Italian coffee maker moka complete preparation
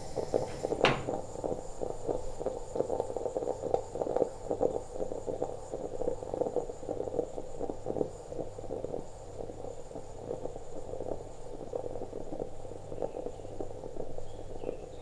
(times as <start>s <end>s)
0.0s 9.6s